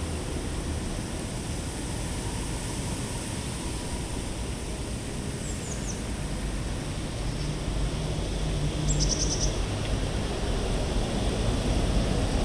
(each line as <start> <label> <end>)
8.8 birds 9.6